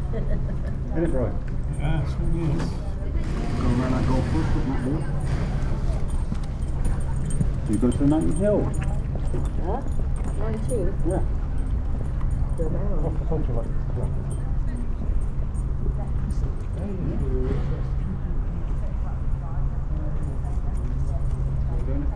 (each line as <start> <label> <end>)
2.0 passing voices 9.1